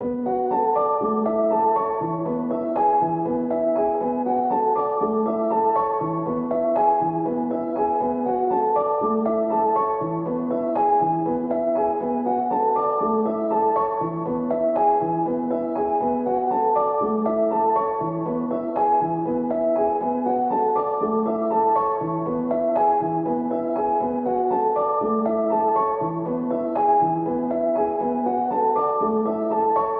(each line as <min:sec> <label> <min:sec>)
0:00.0 piano 0:29.9